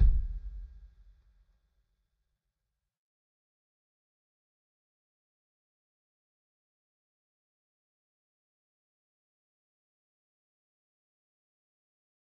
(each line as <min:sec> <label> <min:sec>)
0:00.0 kick 0:00.8